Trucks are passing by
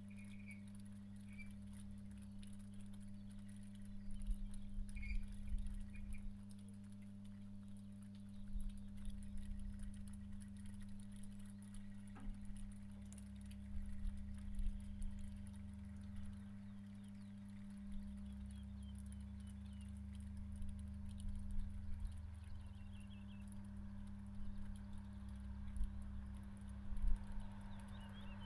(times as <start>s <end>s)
23.8s 28.4s